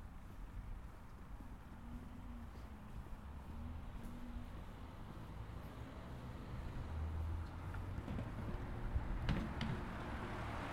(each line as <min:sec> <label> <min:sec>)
0:02.1 Passing cars 0:10.7
0:05.9 Passing motorbike 0:10.7
0:05.9 Cars passing over speed bumps 0:10.7